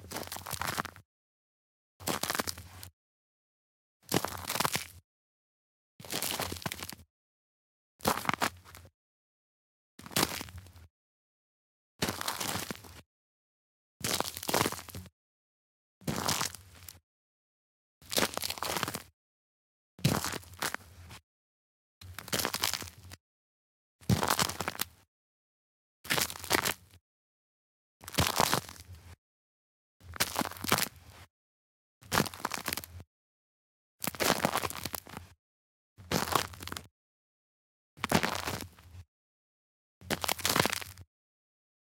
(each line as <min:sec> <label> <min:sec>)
0:00.1 walking on a gravel path with little, fresh but cleared Snow 0:00.9
0:02.1 walking on a gravel path with little, fresh but cleared Snow 0:02.7
0:04.1 walking on a gravel path with little, fresh but cleared Snow 0:04.8
0:06.1 walking on a gravel path with little, fresh but cleared Snow 0:07.0
0:08.1 walking on a gravel path with little, fresh but cleared Snow 0:08.8
0:10.1 walking on a gravel path with little, fresh but cleared Snow 0:10.6
0:12.0 walking on a gravel path with little, fresh but cleared Snow 0:13.0
0:14.0 walking on a gravel path with little, fresh but cleared Snow 0:15.0
0:16.1 walking on a gravel path with little, fresh but cleared Snow 0:17.0
0:18.1 walking on a gravel path with little, fresh but cleared Snow 0:19.1
0:20.0 walking on a gravel path with little, fresh but cleared Snow 0:21.2
0:22.1 walking on a gravel path with little, fresh but cleared Snow 0:23.0
0:24.1 walking on a gravel path with little, fresh but cleared Snow 0:24.9
0:26.1 walking on a gravel path with little, fresh but cleared Snow 0:26.8
0:28.1 walking on a gravel path with little, fresh but cleared Snow 0:28.9
0:30.1 walking on a gravel path with little, fresh but cleared Snow 0:31.3
0:32.1 walking on a gravel path with little, fresh but cleared Snow 0:33.0
0:34.0 walking on a gravel path with little, fresh but cleared Snow 0:35.3
0:36.1 walking on a gravel path with little, fresh but cleared Snow 0:36.9
0:38.0 walking on a gravel path with little, fresh but cleared Snow 0:38.8
0:40.1 walking on a gravel path with little, fresh but cleared Snow 0:41.0